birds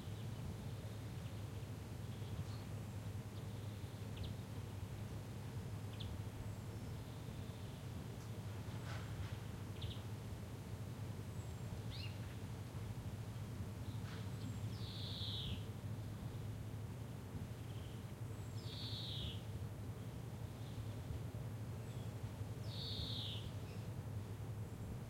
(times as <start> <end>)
5.8 10.1, 13.8 16.5, 17.5 21.2, 21.8 24.0